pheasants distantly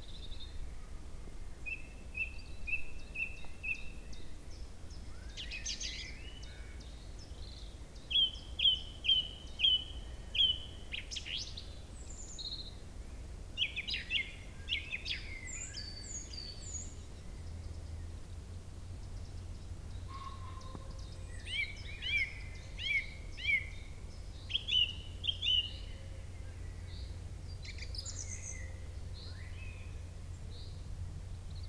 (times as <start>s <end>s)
17.1s 30.9s